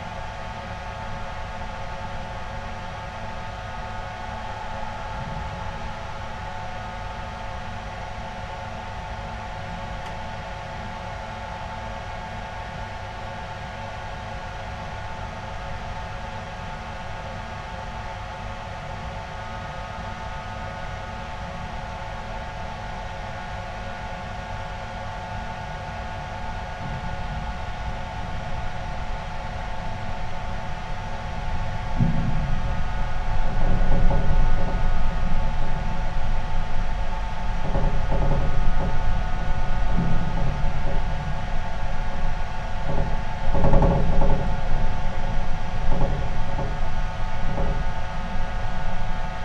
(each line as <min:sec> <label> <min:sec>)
0:25.7 resonance inside a window frame 0:49.4